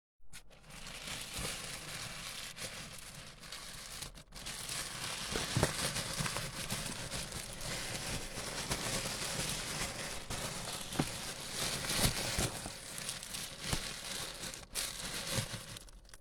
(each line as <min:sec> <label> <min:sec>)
0:00.4 plastic bag crumble 0:16.2